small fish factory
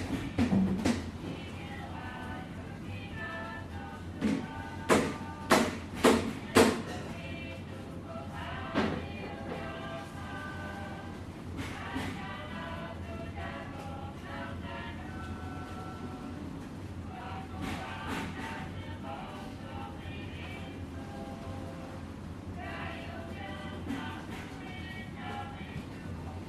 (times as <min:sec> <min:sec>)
0:14.6 0:25.0